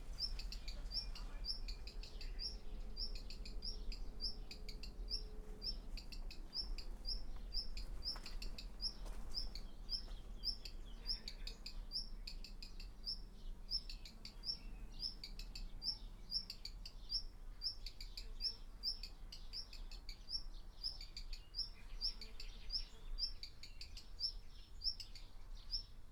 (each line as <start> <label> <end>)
4.6 walking around 10.8